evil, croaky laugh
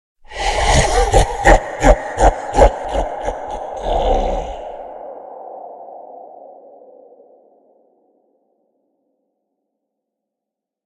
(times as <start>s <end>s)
0.3s 4.9s